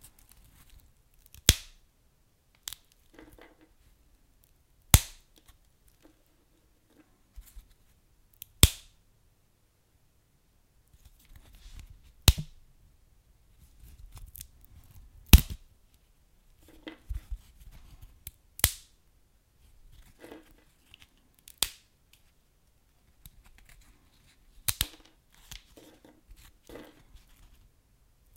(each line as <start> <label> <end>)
1.3 popping or crackling wood, log, or kindling burning in a fire 1.8
18.6 popping or crackling wood, log, or kindling burning in a fire 18.9